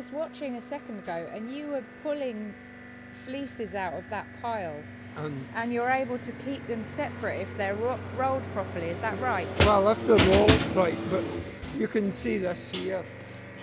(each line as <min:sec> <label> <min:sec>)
0:03.3 talking about the way wool should be presented 0:13.0
0:03.7 wool being baled by the enormous baling machine 0:13.6